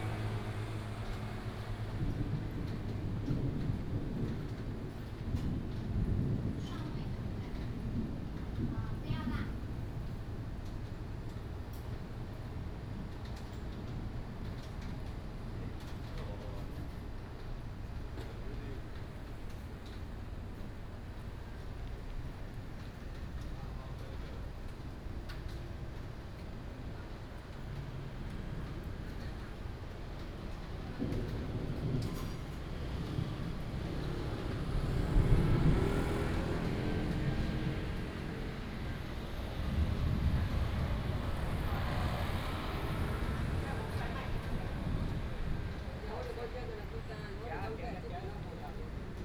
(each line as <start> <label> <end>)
0.0 Traffic Sound 4.2
0.0 Thunder 10.2
30.1 Thunder 46.5
31.0 Traffic Sound 49.2